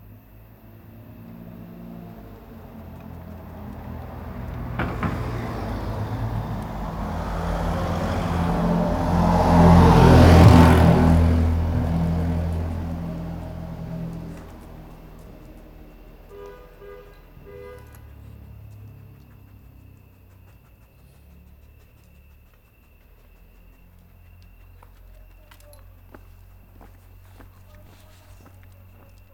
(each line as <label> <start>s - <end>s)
walking the dog 0.0s - 29.3s